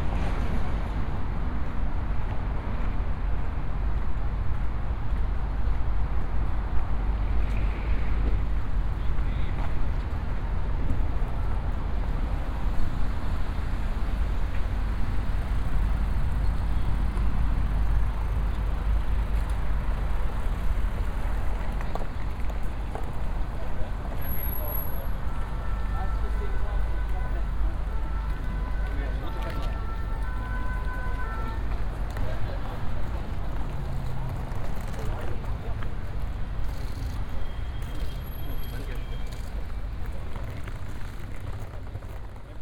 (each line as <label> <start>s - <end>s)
heavy traffic 0.0s - 42.6s
sirens 24.6s - 32.8s